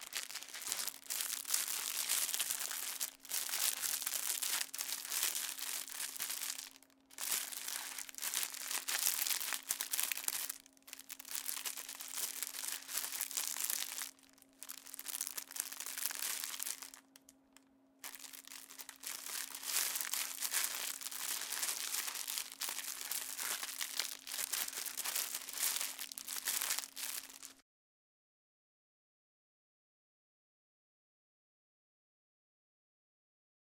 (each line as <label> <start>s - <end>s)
Plastic crumple 0.0s - 17.3s
Plastic crumple 18.0s - 27.6s